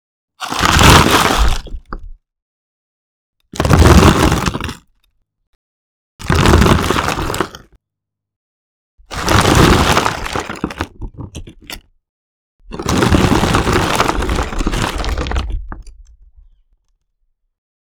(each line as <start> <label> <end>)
12.7 rock, brick, stone or debris impact falling sounds 16.0